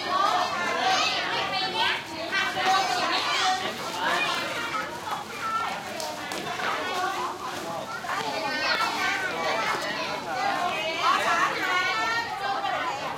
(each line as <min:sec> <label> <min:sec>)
0:00.0 schoolchildren 0:13.1